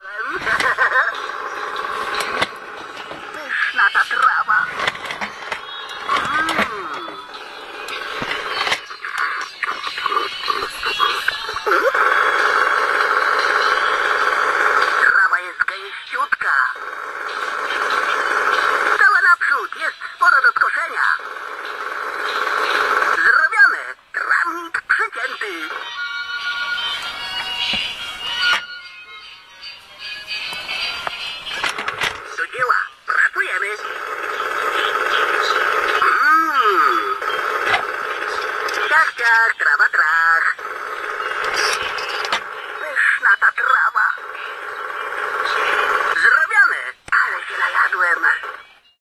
speaking lawn machine toy 0:00.0 - 0:25.9
speaking lawn machine toy 0:31.0 - 0:48.9

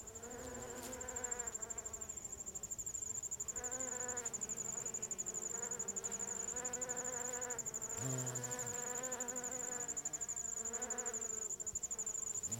Bees 0:00.0 - 0:12.5
Crickets 0:00.0 - 0:12.5

